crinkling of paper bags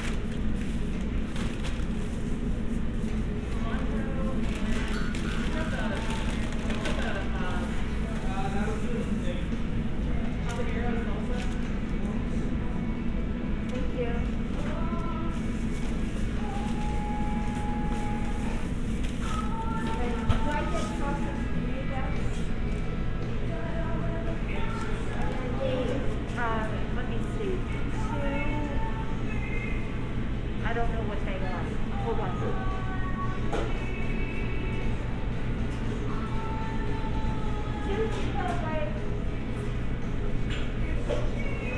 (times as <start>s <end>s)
0.0s 2.4s, 3.8s 9.0s, 10.4s 12.0s